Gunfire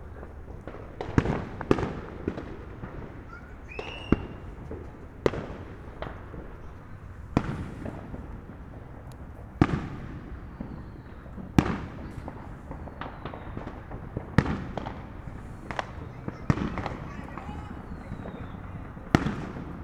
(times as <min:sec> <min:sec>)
0:11.6 0:19.8